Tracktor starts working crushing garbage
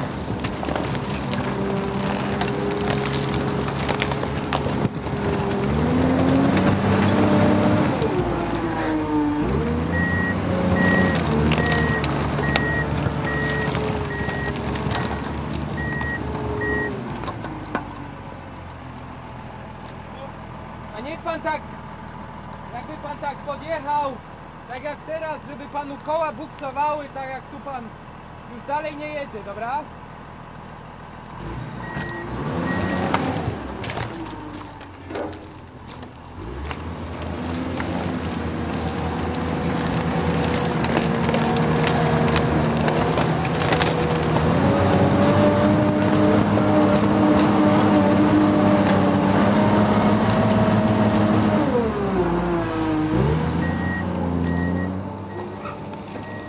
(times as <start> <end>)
0.0 19.2, 31.1 56.4